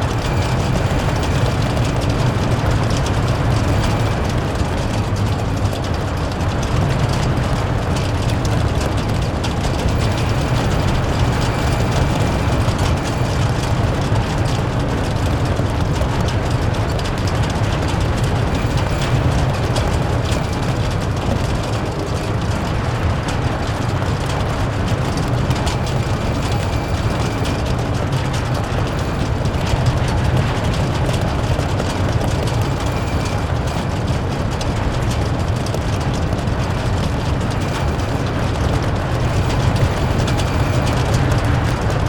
Wind blowing through the Hague Beach Stadium 0.0 - 42.0

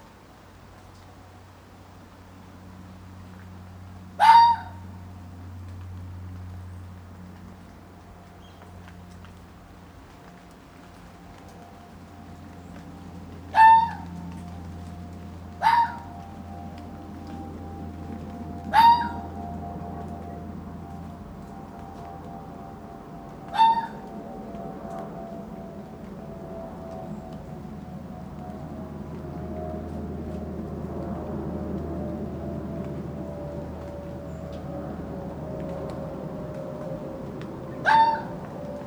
Planes are constantly overhead 0.0 - 38.8

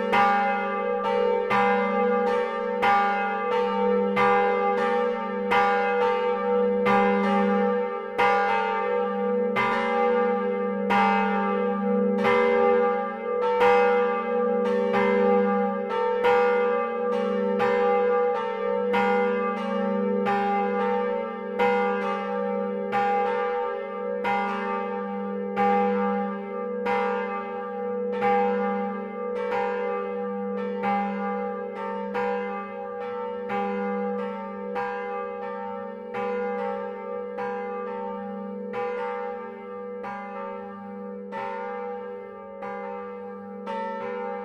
two bells of the church 0.0 - 44.4

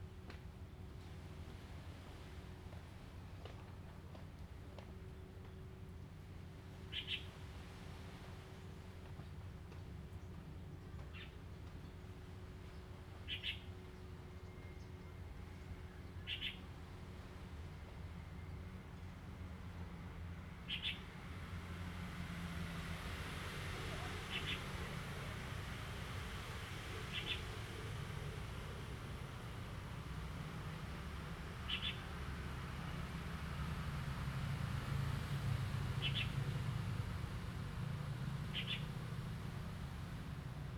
waves 0.8 - 10.4
waves 21.4 - 40.7
Birds singing 31.7 - 32.0
Birds singing 36.0 - 36.4
Birds singing 38.5 - 39.0

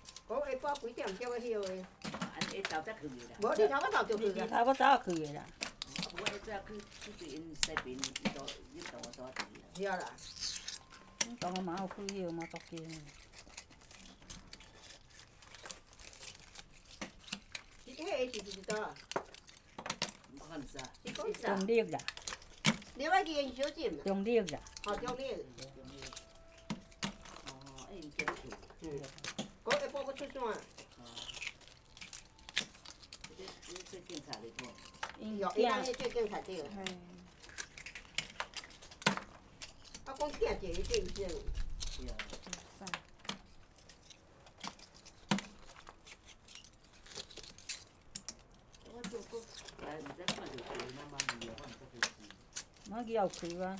old women are digging oysters 0.0 - 53.7

